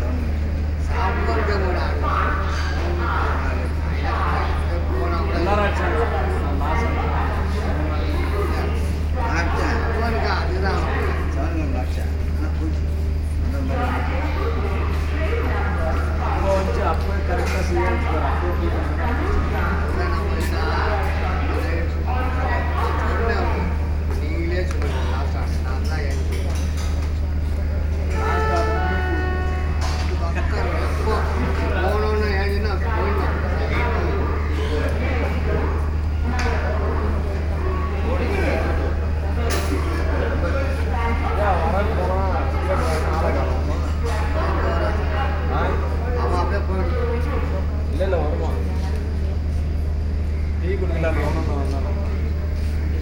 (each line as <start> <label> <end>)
23.8 train 31.5